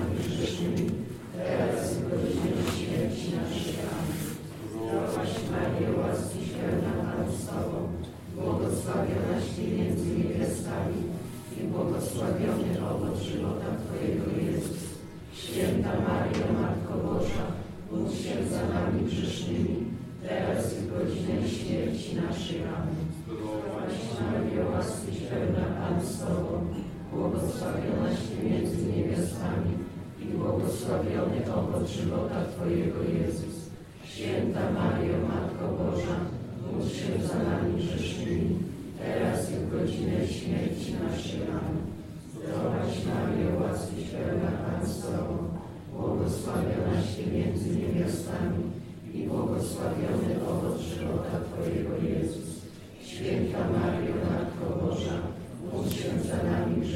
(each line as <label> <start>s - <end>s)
singing, chanting and praying ritual songs 0.0s - 56.9s